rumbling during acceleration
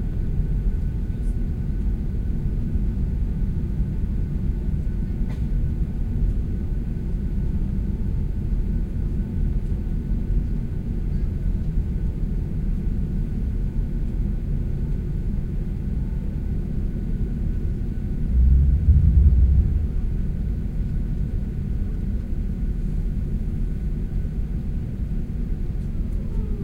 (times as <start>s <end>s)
17.9s 21.7s